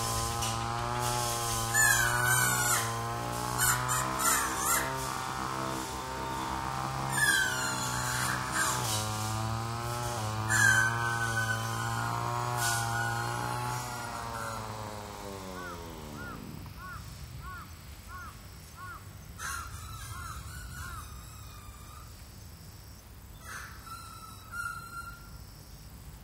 making strange noises by blowing on a leaf 0.0 - 16.7
lawn mower 0.0 - 19.0
birds 0.0 - 26.0

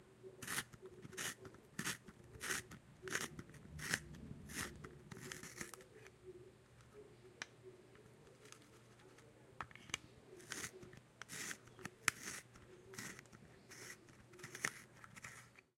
pencil being sharpened 0.4 - 5.8
pencil being sharpened 10.4 - 15.6

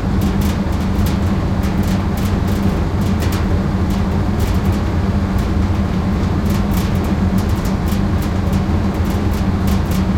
vent heavy ventilation metal rattle 0.0 - 10.1

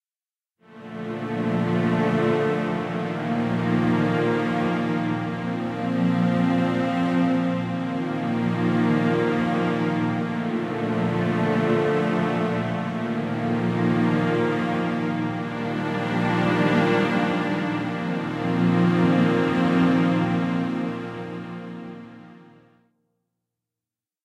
strings 0.6 - 22.7

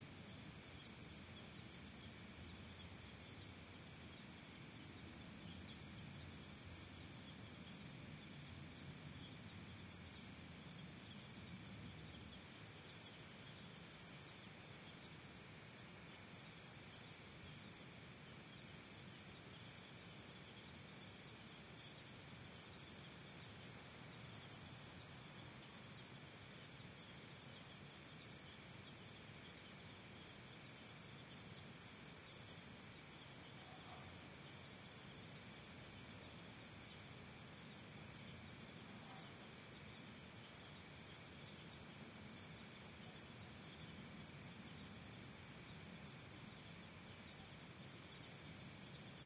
crickets 0.0 - 49.2

